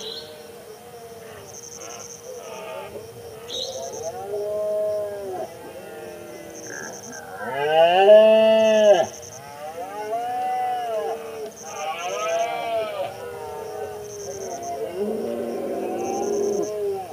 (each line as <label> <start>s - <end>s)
insects 0.0s - 17.1s
bird calls 3.4s - 4.2s
Roaring of male Red-deer 4.0s - 17.1s